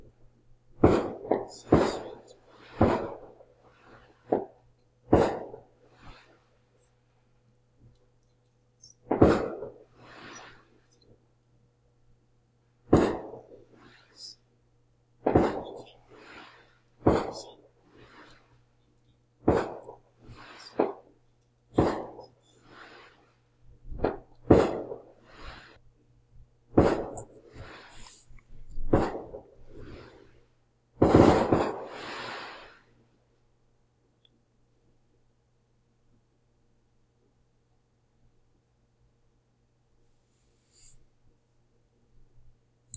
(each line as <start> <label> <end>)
0.8 fireworks sounding through my window 6.4
8.8 fireworks sounding through my window 10.8
12.9 fireworks sounding through my window 14.4
15.2 fireworks sounding through my window 18.5
19.4 fireworks sounding through my window 25.8
26.7 fireworks sounding through my window 30.4
31.0 fireworks sounding through my window 32.9